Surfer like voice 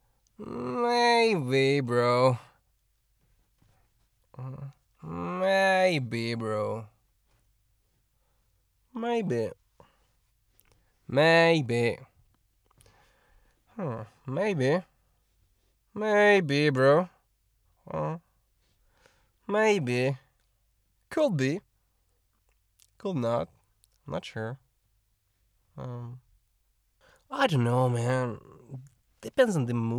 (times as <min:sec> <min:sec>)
0:00.4 0:02.5, 0:04.4 0:06.8, 0:13.8 0:14.8, 0:25.8 0:26.2, 0:27.3 0:29.9